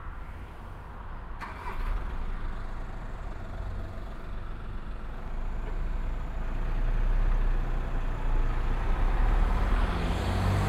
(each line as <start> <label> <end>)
0.0 bus that comes from the nearby bus station 10.6
0.0 dense traffic 10.6